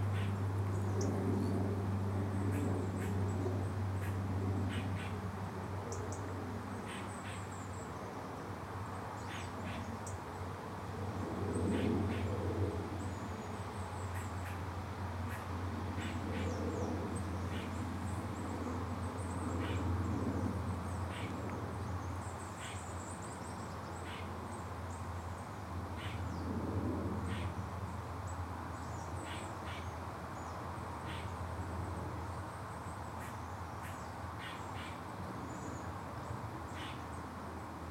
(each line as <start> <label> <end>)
0.0 aeroplanes 6.8
0.0 traffic 37.9
10.6 aeroplanes 22.2
26.4 aeroplanes 27.8